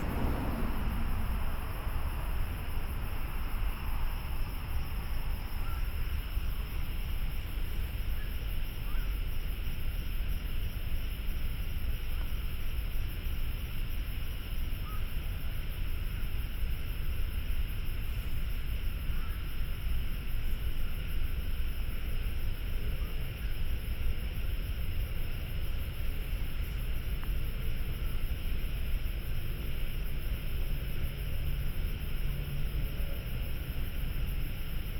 Traffic Sound 0:00.0 - 0:07.1
Frogs 0:00.0 - 0:34.9
Traffic Sound 0:24.8 - 0:34.9

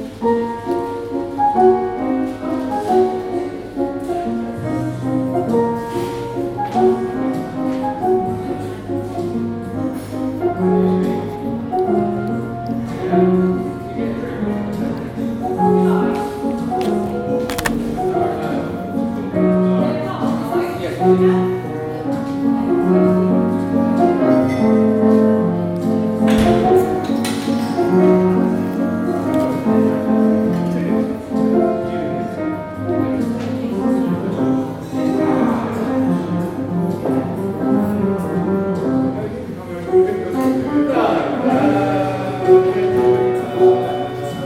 piano playing 0:00.0 - 0:19.9

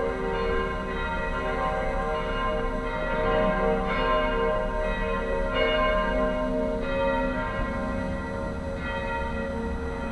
Distant bells 0:00.0 - 0:10.1

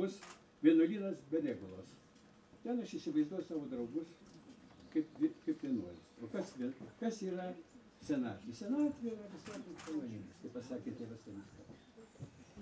poet Algimantas Baltakis speaks 0:02.6 - 0:04.2
poet Algimantas Baltakis speaks 0:04.9 - 0:11.9

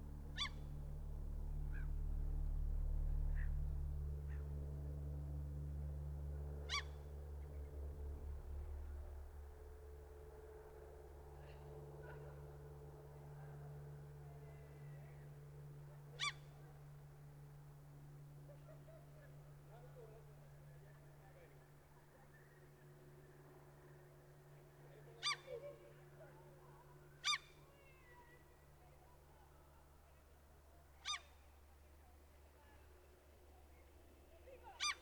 Small plane flying 0:00.0 - 0:29.0

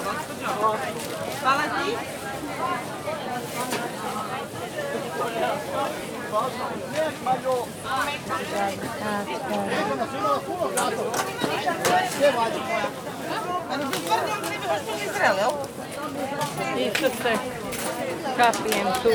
voices from vicinity 0:00.0 - 0:19.1

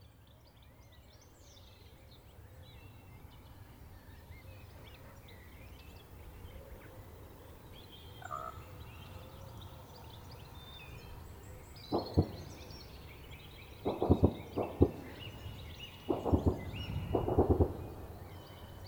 Army Tankfire 0:11.9 - 0:12.8
Army Tankfire 0:13.8 - 0:18.3

